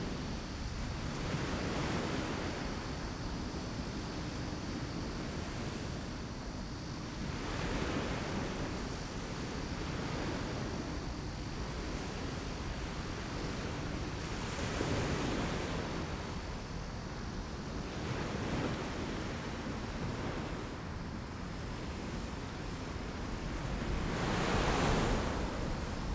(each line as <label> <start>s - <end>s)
waves 0.0s - 26.1s